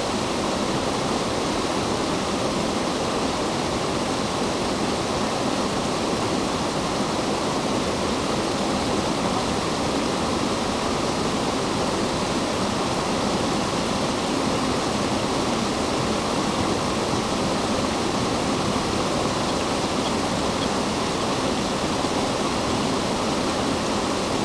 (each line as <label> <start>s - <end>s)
distant Canada geese 11.3s - 24.4s